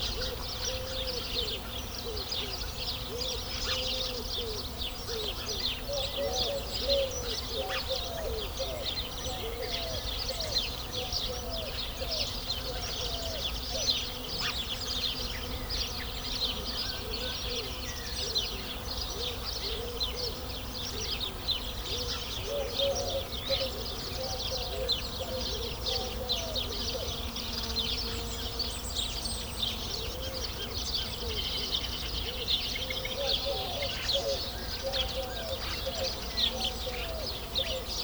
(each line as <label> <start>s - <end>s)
Countryside birds 0.0s - 38.0s